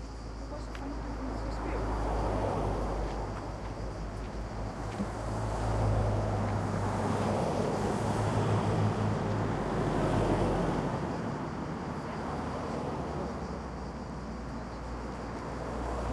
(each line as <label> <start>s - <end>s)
crickets 0.0s - 16.1s
Cars passing on the road nearby 0.0s - 16.1s
voices of people 0.2s - 3.5s